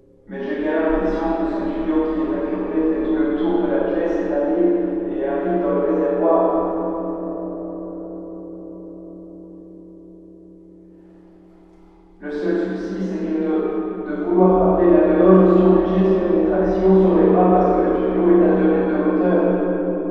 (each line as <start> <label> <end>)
0.3 speak stupid things on a hole on the cistern summit 6.6
12.2 speak stupid things on a hole on the cistern summit 19.5